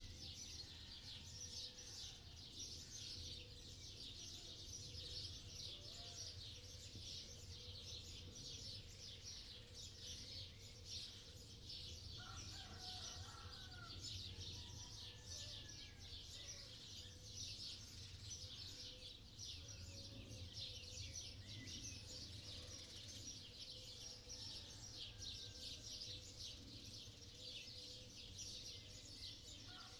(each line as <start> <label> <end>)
0.0 roosters, at different distances 29.9
0.0 sparrows 29.9